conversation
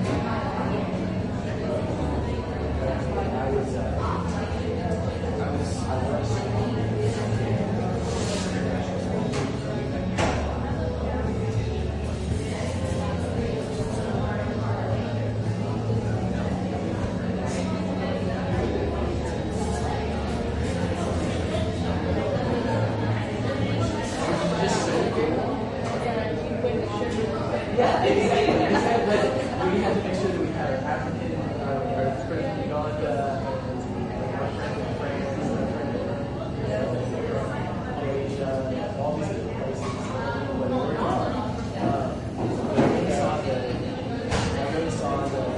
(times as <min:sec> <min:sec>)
0:25.6 0:35.6